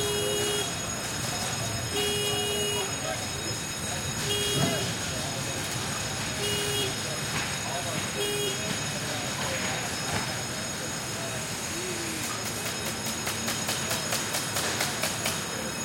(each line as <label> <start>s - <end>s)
CONSTRUCTION 0.0s - 15.8s
WORKERS 0.0s - 15.8s
HAMMER 12.4s - 15.5s